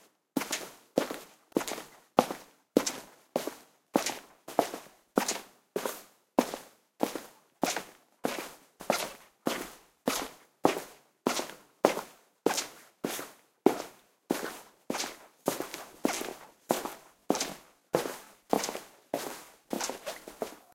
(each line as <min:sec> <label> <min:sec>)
0:15.0 Footsteps In Squeaky Shoes 0:20.7